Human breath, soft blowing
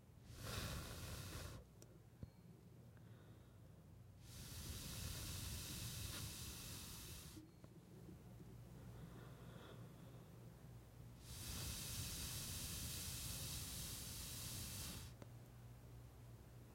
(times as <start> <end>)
0.2 1.7, 4.2 7.5, 11.2 15.2